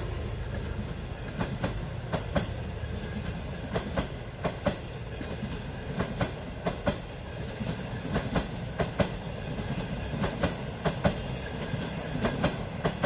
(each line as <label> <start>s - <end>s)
train passing 0.0s - 13.0s